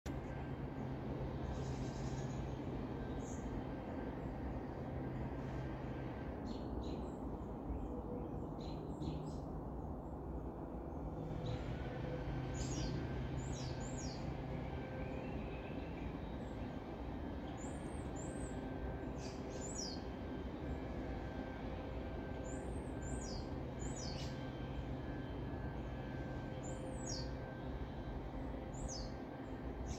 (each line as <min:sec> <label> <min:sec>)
0:00.4 birds 0:09.6
0:11.0 distant weedwhacker 0:29.9
0:11.4 birds 0:20.7
0:21.4 birds 0:29.9